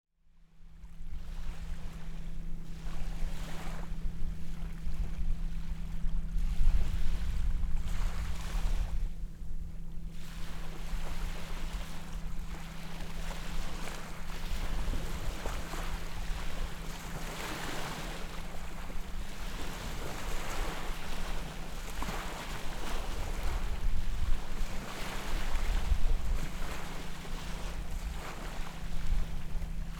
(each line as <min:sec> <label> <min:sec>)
0:00.3 Slow Boat In Distance 0:29.9
0:00.8 Soft Waves 0:29.9